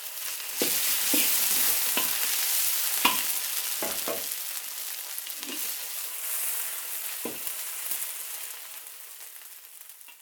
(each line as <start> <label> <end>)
0.0 hot oil and mashed vegetable ingreedients 10.2